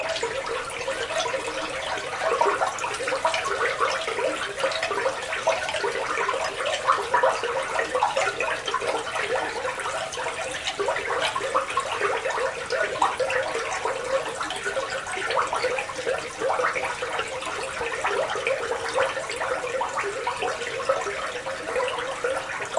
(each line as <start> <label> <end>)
0.0 Water in Sewer 22.7